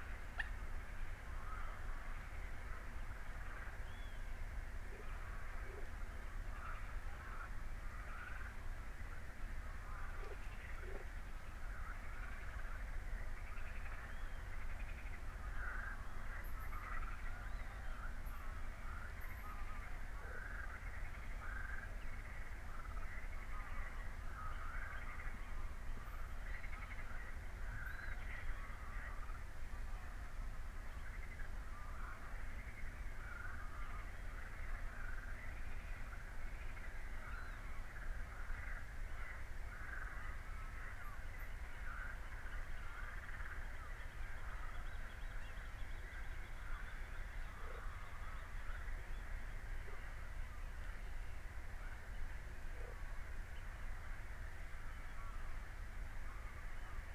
frogs 0.0 - 51.0
birds 9.8 - 50.8
frogs 51.6 - 57.1

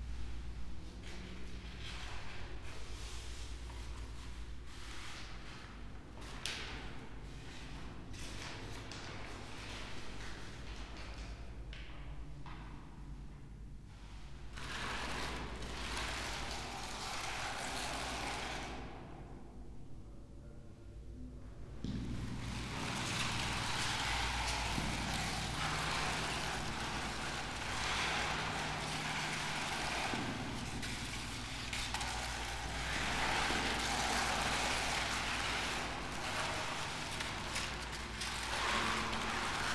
paper 22.6 - 39.7

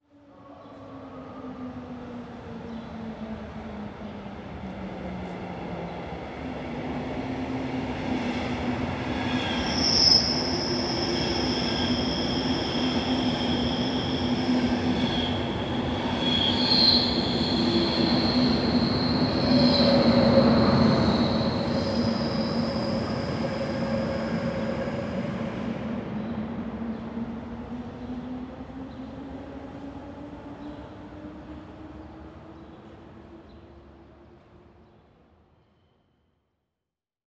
train passing 0.3 - 34.8

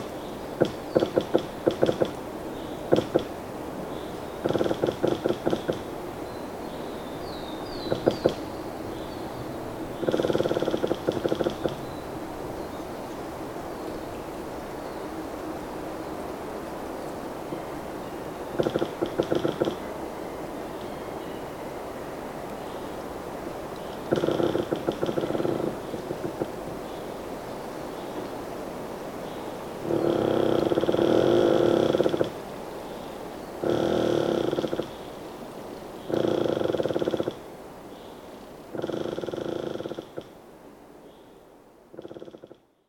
squeaking pine tree 0.0 - 15.2
squeaking pine tree 18.4 - 19.9
squeaking pine tree 23.8 - 27.1
squeaking pine tree 29.3 - 32.4
squeaking pine tree 33.4 - 35.2
squeaking pine tree 36.0 - 37.4
squeaking pine tree 38.7 - 40.4
squeaking pine tree 41.9 - 42.6

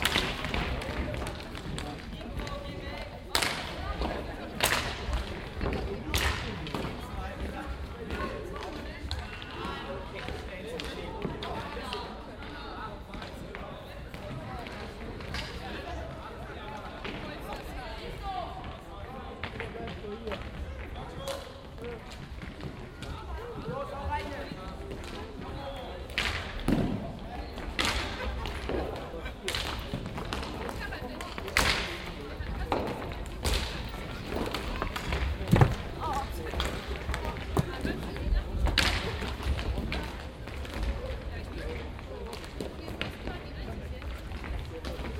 inline skater hockey warmschiessen 19.4 - 45.1

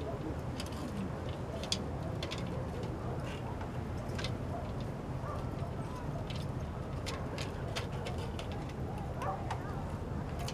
Light voices of neighbors 0.0 - 10.5
light wind 0.0 - 10.5
Dog barking 9.2 - 9.8

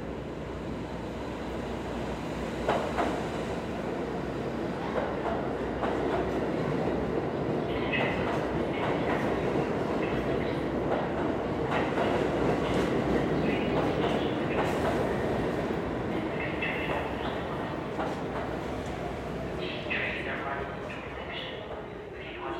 train announcements 4.6 - 22.5

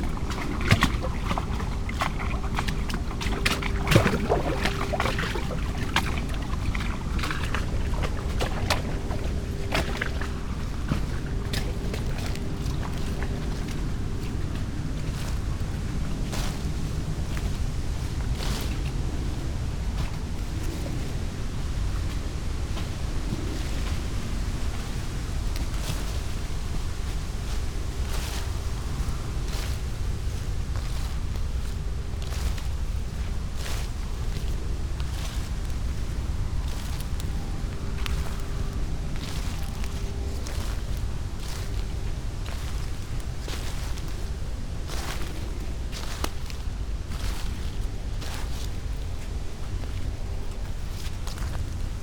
lapping waves 0.0 - 22.2
walking 0.0 - 52.0
wind 0.0 - 52.0
lapping waves 28.2 - 52.0

